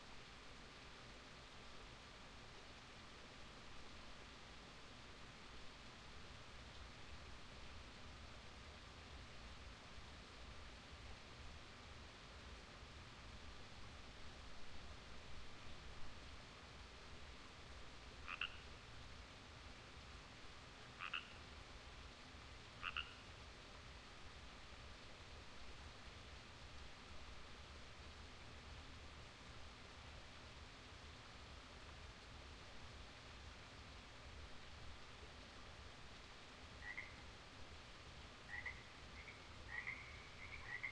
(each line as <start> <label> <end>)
18.2 chorus of frogs 18.8
20.9 chorus of frogs 21.5
22.8 chorus of frogs 23.3
36.6 chorus of frogs 37.5
38.4 chorus of frogs 40.9